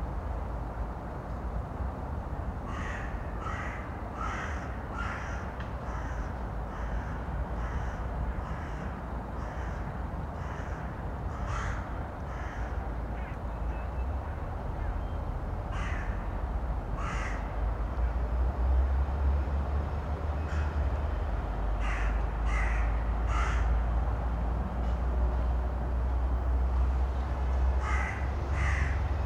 2.7s crows 13.3s
15.7s crows 16.2s
17.0s crows 17.5s
20.4s crows 20.8s
21.8s crows 23.8s
27.8s crows 29.0s

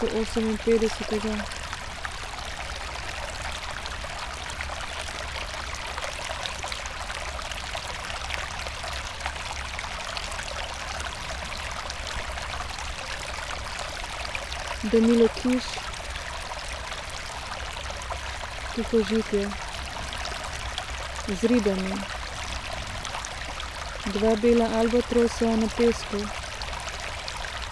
14.8s reading session 15.8s
18.8s reading session 19.5s
21.3s reading session 22.1s
24.1s reading session 26.3s

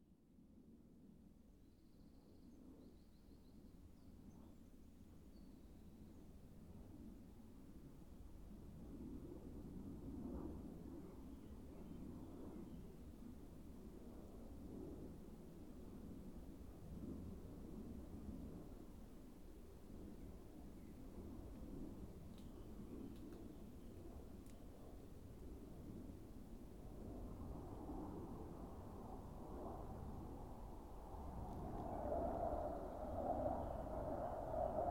24.9s Military jet doing two practice laps 34.9s

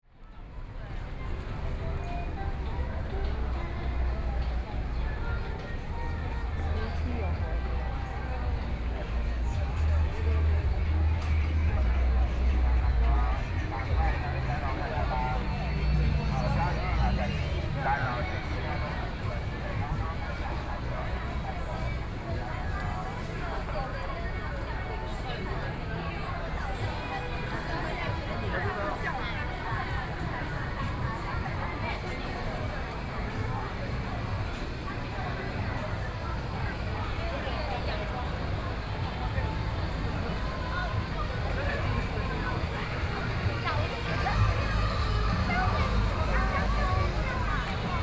0.0s young people shopping 48.0s

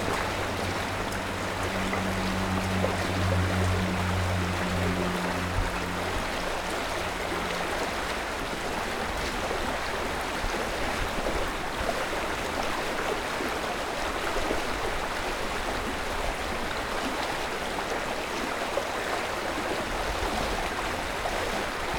0.0s Lyna river 21.9s

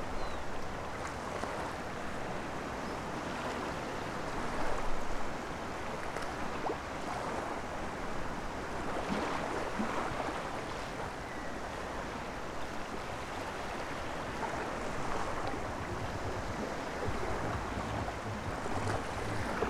0.0s waves 19.6s
0.0s wind 19.6s
15.2s distant dj music 19.6s

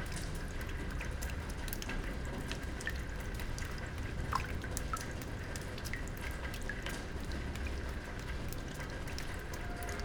0.0s rain 10.0s
6.9s train 10.0s

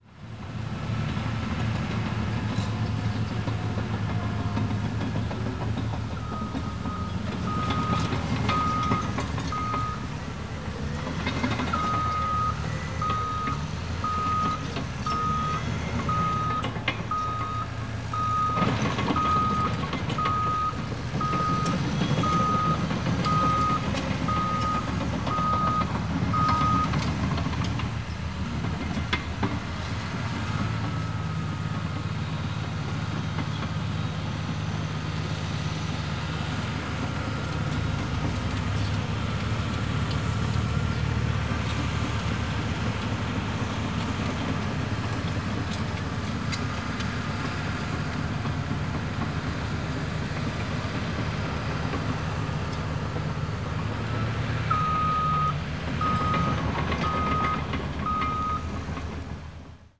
0.1s bulldozer whirr behind the fence 59.9s

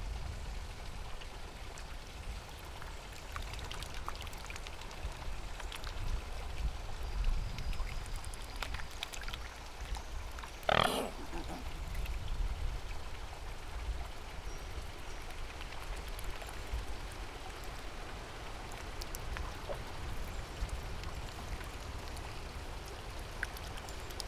10.6s two white swans snorting and grunting 12.1s

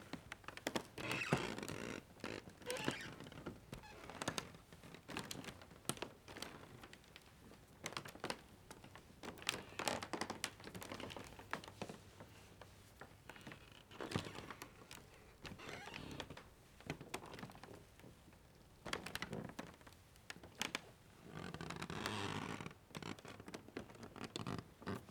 1.0s Creaky floor 4.5s
15.4s Creaky floor 16.4s

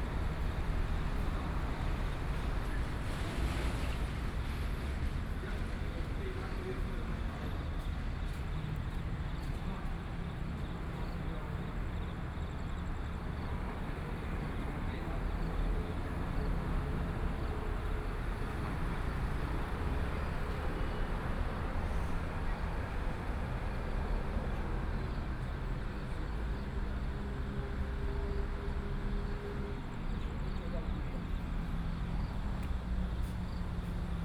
0.0s Traffic Sound 34.2s
0.0s Trains traveling through 34.2s

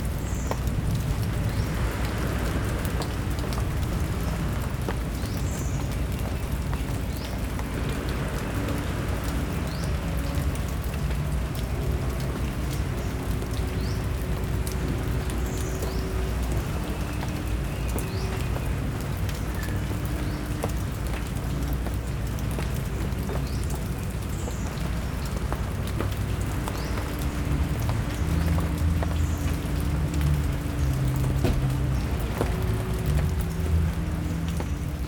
0.0s distant traffic drone 35.0s
0.0s rain under big tree 35.0s
0.6s ocean waves 17.6s

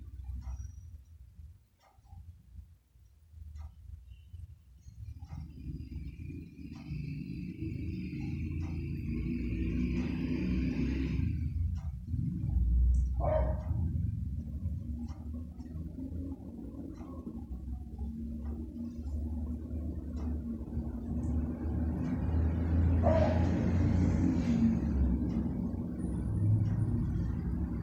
4.9s cars 27.8s
13.1s dogs 13.9s
23.0s dogs 23.7s

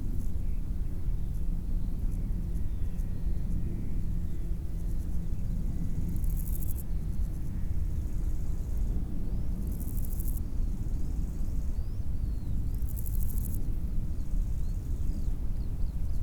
0.1s crickets 16.2s

